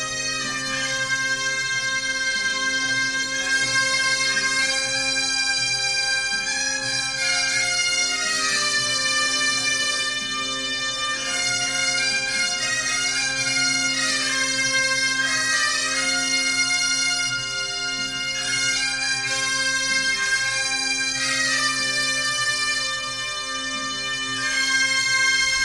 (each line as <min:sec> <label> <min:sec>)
0:00.0 Bagpipes 0:25.6